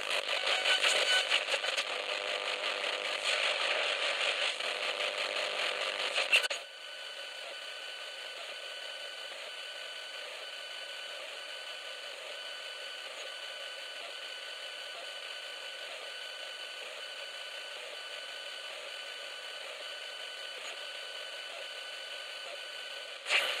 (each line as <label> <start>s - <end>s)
FM-noise 0.0s - 23.6s